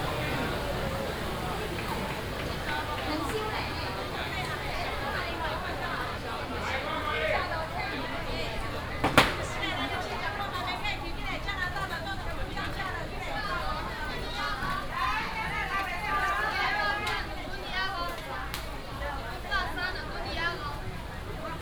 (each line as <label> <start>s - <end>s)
traffic sound 0.0s - 6.7s
vendors peddling 0.0s - 7.8s